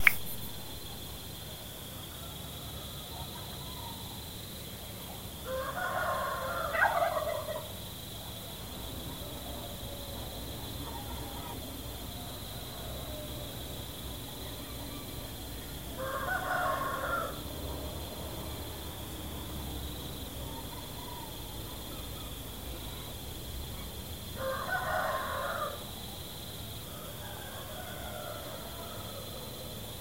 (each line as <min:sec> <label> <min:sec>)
0:05.4 rooster 0:07.9
0:09.2 rooster 0:13.6
0:14.3 rooster 0:17.8
0:24.4 rooster 0:26.2
0:26.8 rooster 0:30.0